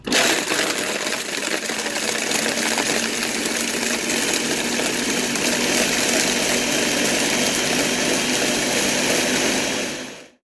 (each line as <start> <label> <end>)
0.0 ice being blended 10.4
0.0 blender turning on 10.4